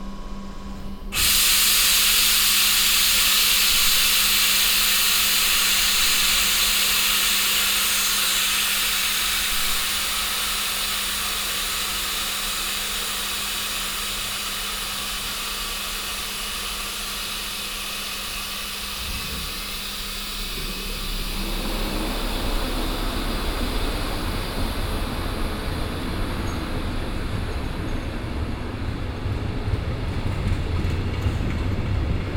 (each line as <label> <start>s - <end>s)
regional train 0.0s - 32.3s
pneumatic air pressure sound 1.1s - 26.8s